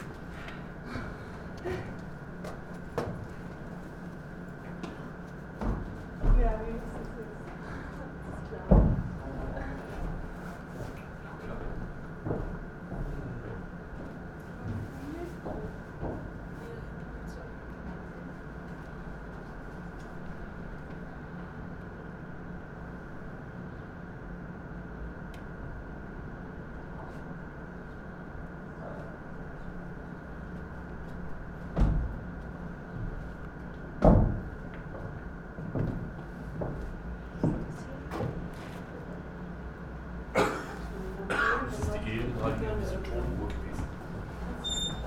hum from an e-plus mobile phone antenna station 15.4 - 40.3

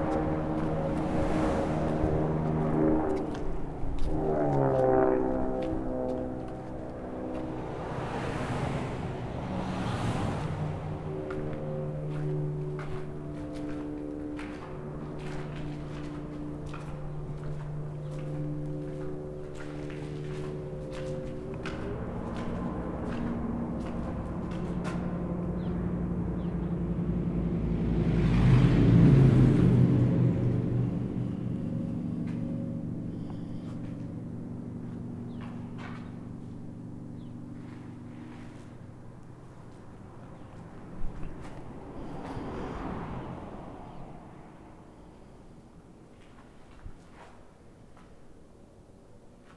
freeway traffic noises 0.0 - 49.5

